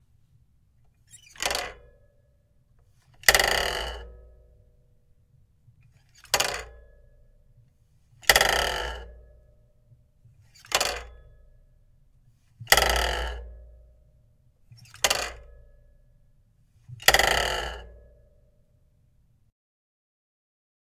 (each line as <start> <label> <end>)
1.2 Bike kickstand being opened and closed 1.9
3.3 spinning wheel 4.0
6.2 Bike kickstand being opened and closed 6.9
8.3 spinning wheel 9.0
10.6 Bike kickstand being opened and closed 11.2
12.7 spinning wheel 13.4
14.7 Bike kickstand being opened and closed 15.6
17.0 spinning wheel 17.9